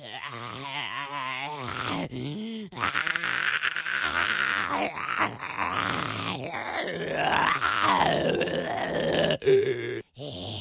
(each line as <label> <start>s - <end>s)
Single groaning zombie 0.0s - 10.6s